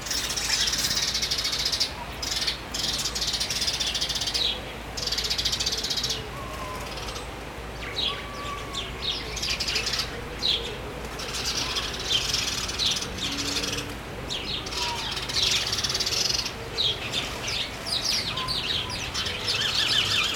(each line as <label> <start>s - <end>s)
Sparrows fights 0.0s - 3.1s